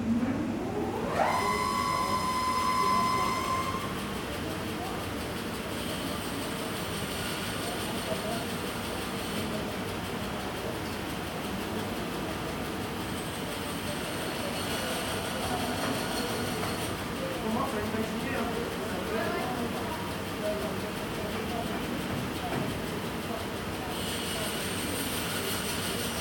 0.0s ventilation 5.0s

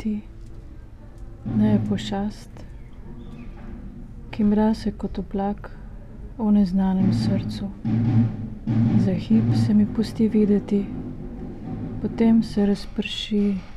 0.0s reading poem 5.2s

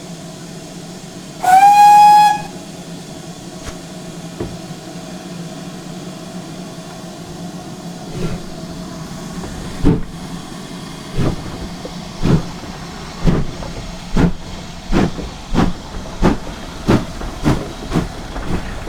0.0s engine 18.8s
0.0s steam 18.8s
0.0s steam train leaves 18.8s
1.2s Voices 18.8s
1.4s whistle 2.6s

